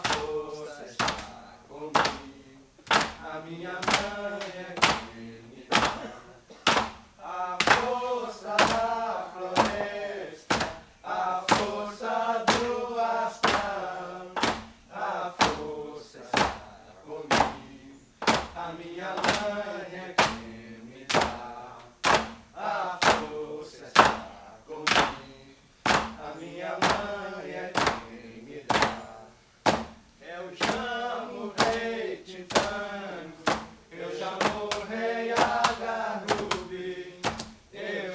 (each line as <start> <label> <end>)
9.6 hammering the vine 10.9
11.5 hammering the vine 11.8
14.4 hammering the vine 14.7
25.9 hammering the vine 27.1
27.8 hammering the vine 28.1
29.6 hammering the vine 30.0
30.6 hammering the vine 31.0
31.6 hammering the vine 31.9
32.5 hammering the vine 32.8
33.4 hammering the vine 36.6
37.2 hammering the vine 37.6